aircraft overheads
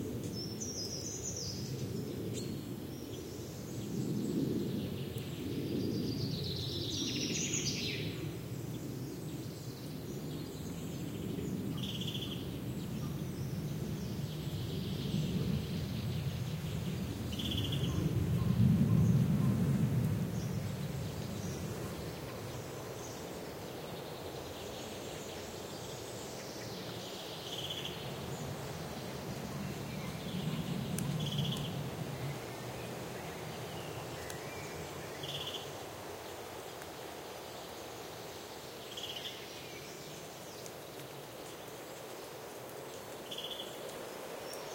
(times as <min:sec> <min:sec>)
0:00.0 0:11.7, 0:12.4 0:26.5, 0:27.2 0:36.2